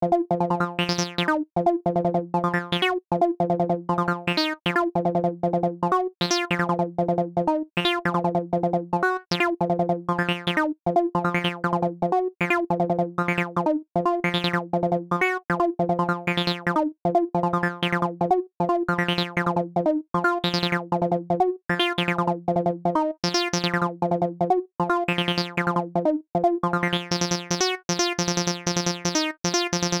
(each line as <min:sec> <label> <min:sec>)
0:26.7 synth 0:30.0